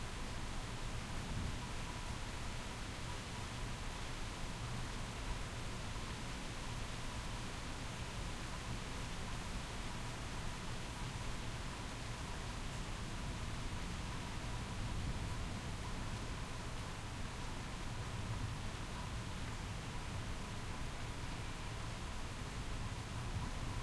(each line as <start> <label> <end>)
0.0 Heavy Rain in Distance 23.8